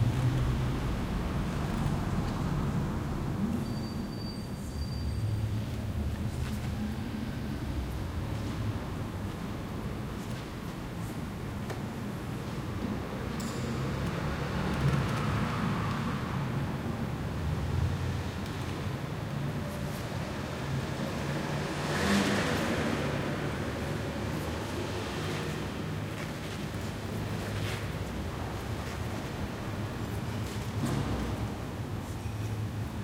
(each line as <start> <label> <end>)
0.0 car or motorbike outside 3.6
12.2 car or motorbike outside 33.0